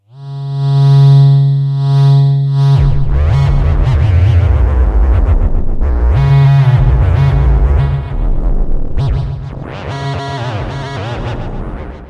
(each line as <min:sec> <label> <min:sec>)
0:00.2 Virtual theremin sounds 0:08.2